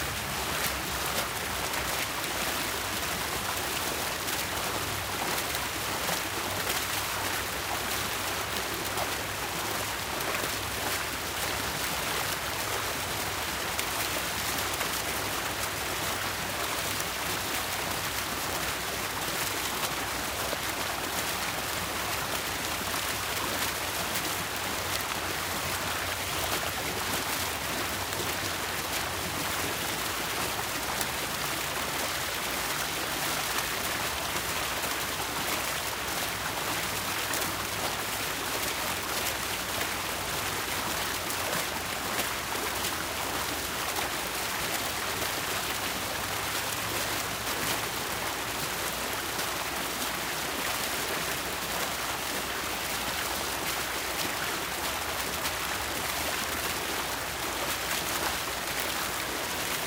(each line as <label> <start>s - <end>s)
small splashy fountain water fixture 0.0s - 59.8s